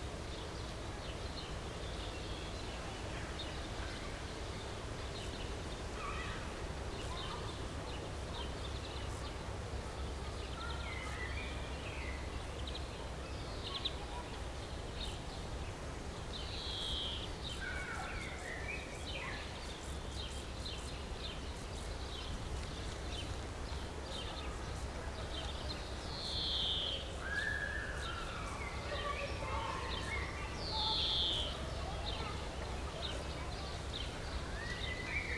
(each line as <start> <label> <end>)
5.8 kids playing in a distance 8.6
9.7 kids playing in a distance 15.1
26.9 kids playing in a distance 35.3